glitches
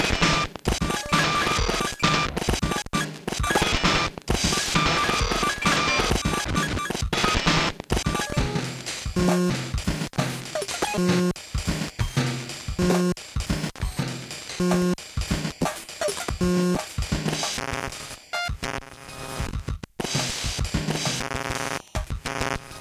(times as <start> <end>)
0.0 9.6, 20.9 22.8